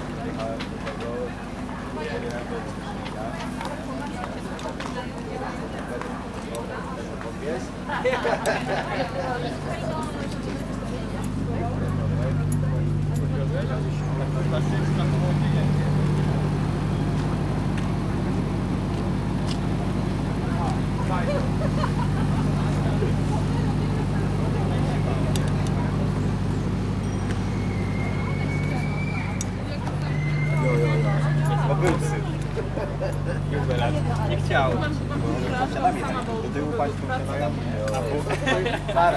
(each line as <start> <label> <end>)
7.4 trailer power transformer trembling with deep drone 39.1